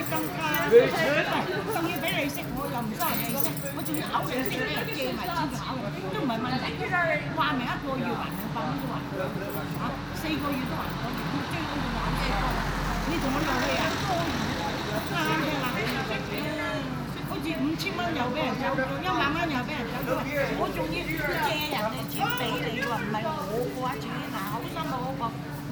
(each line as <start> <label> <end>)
0.0 Asian people talking loudly 25.7
0.0 quiet street ambiance 25.7